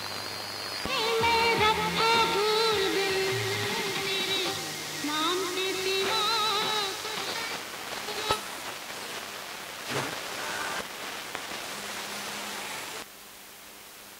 0.0s radio stqtion comes into tune 13.0s
0.0s static 14.1s

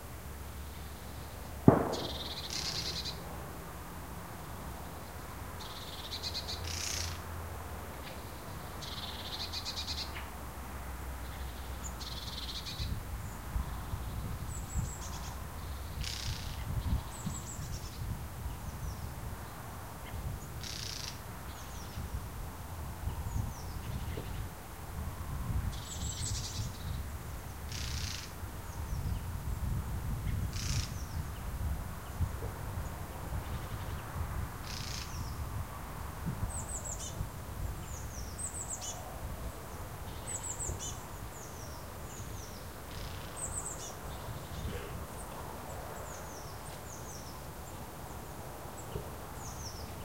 0.0s road noise 50.0s
0.7s birdsong 3.2s
11.2s birdsong 22.2s
25.5s birdsong 35.5s
36.4s birdsong 50.0s

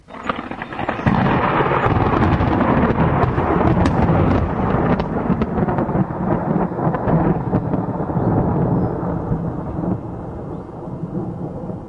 0.0s thunder 11.8s

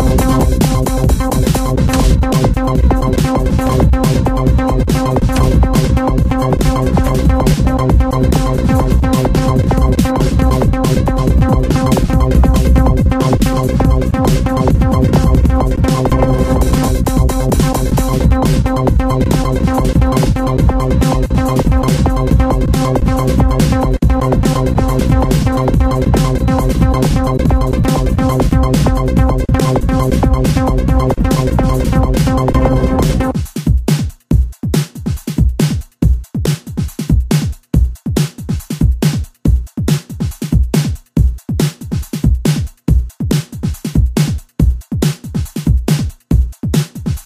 0.0s beat 47.2s

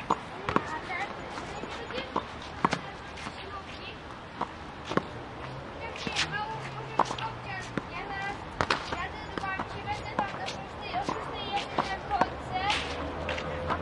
5.8s squash game 13.8s

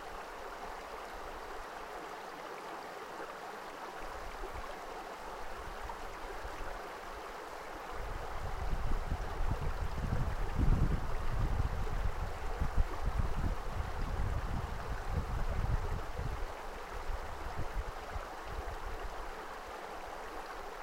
0.0s river 20.8s

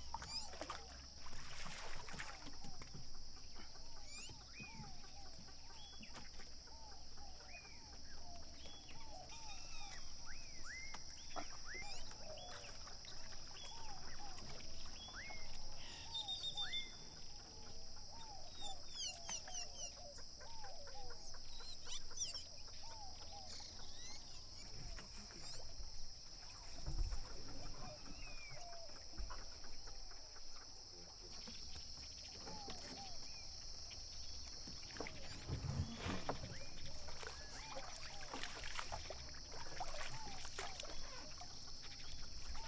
0.0s lake wave 3.1s
0.0s birds 42.6s
0.0s crickets 42.6s
34.3s lake wave 42.6s

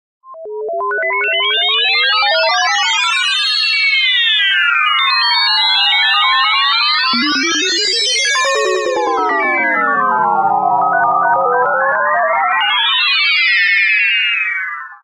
7.2s beeping effects 9.4s

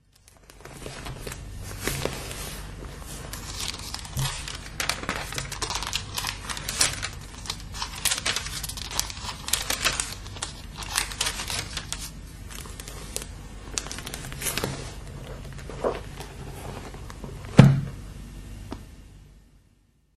0.0s turning pages 17.7s

